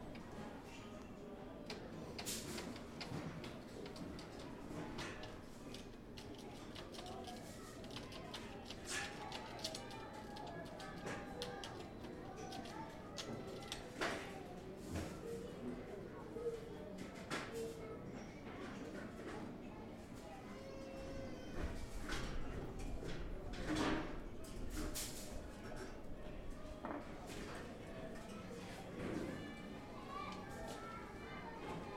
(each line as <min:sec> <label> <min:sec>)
0:00.0 children studying 0:31.9